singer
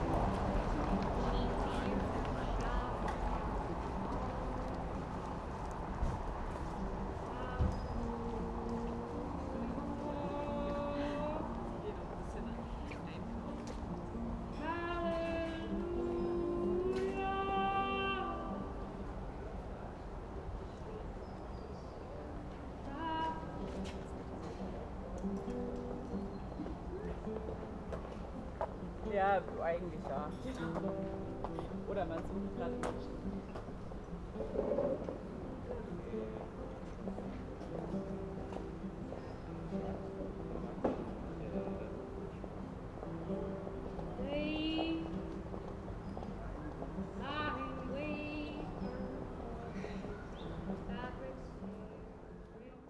0.0 5.4, 6.0 19.4, 22.0 25.4, 44.0 52.8

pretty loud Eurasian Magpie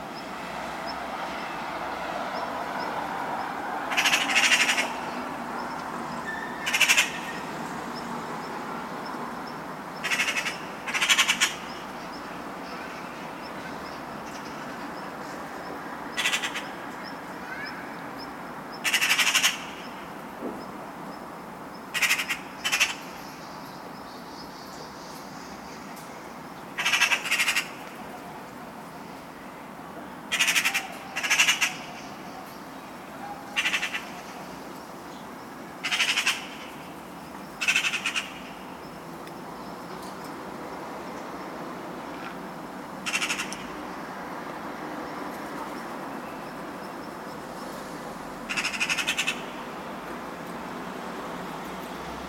3.8 7.5, 10.0 13.1, 16.1 16.8, 18.7 20.0, 21.9 23.4, 26.7 28.8, 30.3 38.8, 43.0 43.7, 48.5 49.6

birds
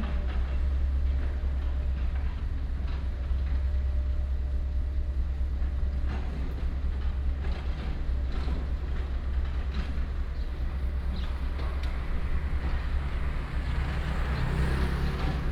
8.1 15.5

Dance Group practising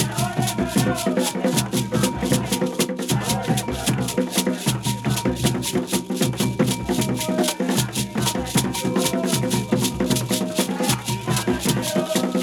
7.8 12.4

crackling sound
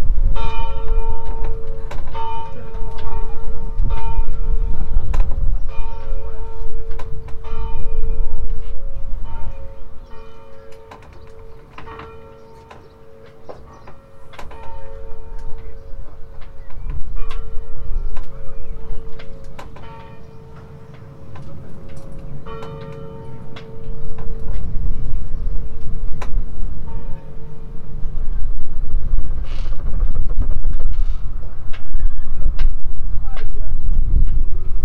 29.4 31.9

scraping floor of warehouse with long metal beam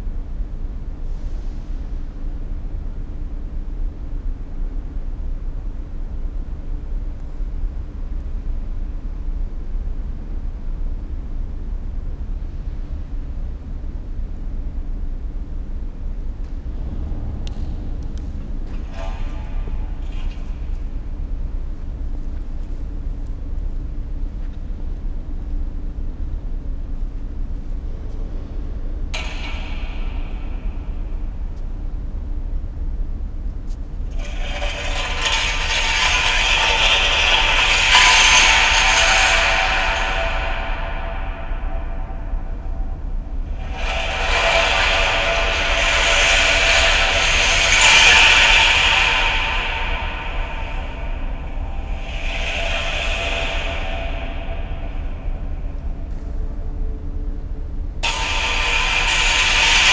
16.0 59.9

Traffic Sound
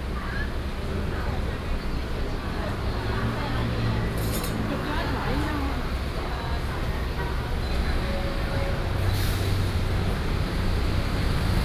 2.8 11.6

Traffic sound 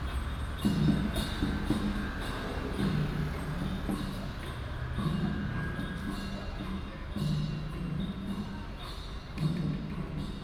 0.0 6.2

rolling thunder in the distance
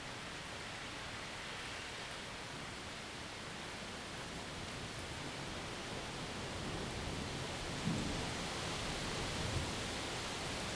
6.6 8.4

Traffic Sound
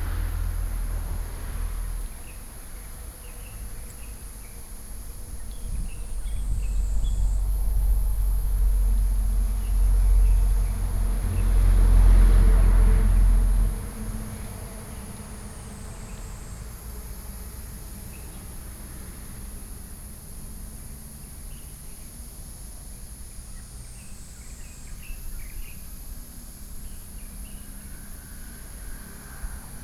0.0 5.4, 6.0 19.7, 27.2 29.8

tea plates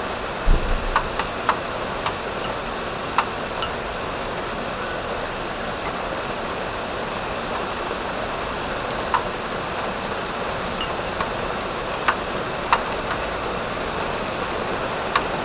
8.8 13.4

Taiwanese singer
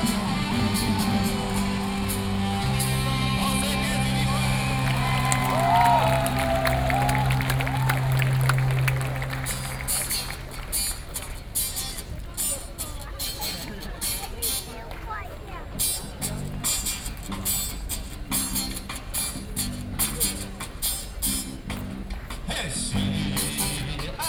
0.0 6.0

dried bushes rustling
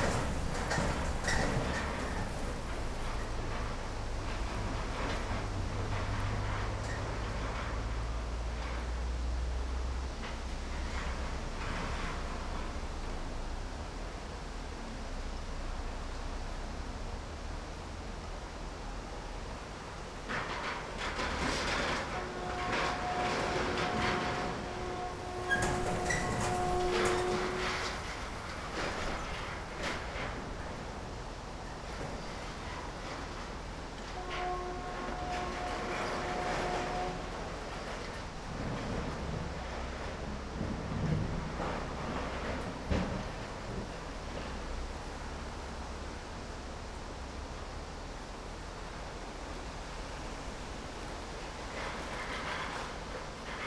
22.2 33.7

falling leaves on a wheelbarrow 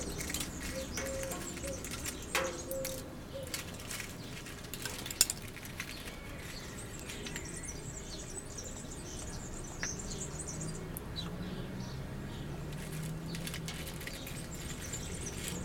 0.0 8.2, 12.6 15.6

